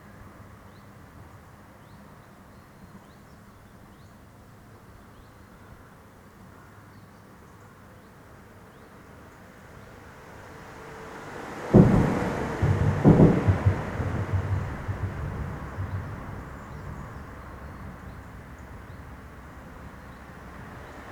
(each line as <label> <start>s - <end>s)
passing cars 9.6s - 21.1s